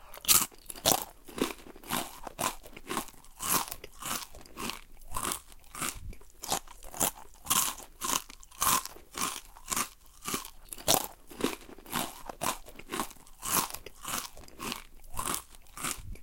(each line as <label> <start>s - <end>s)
eating crisps2 0.0s - 16.2s